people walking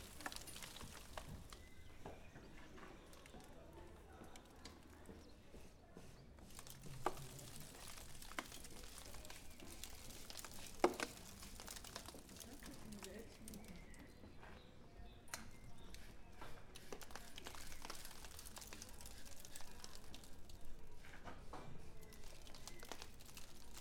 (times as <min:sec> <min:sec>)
0:00.0 0:14.9